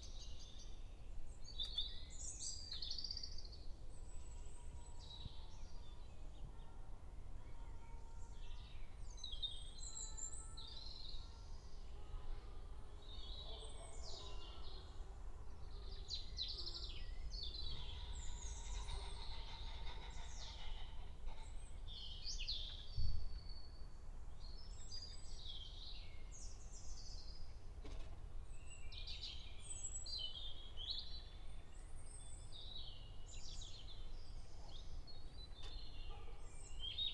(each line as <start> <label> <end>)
0.0 Bird singing 27.7
28.5 Bird singing 37.1